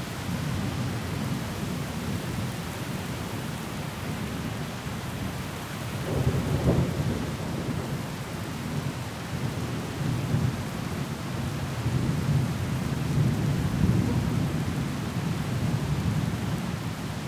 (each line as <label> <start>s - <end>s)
rain 0.0s - 17.2s
thunder 6.0s - 8.1s